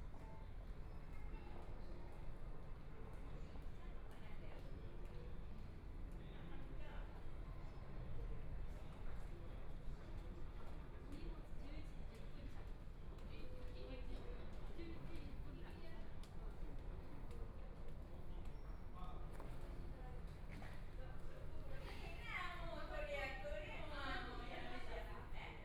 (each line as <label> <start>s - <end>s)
Waiting for a flight passengers 0.0s - 25.6s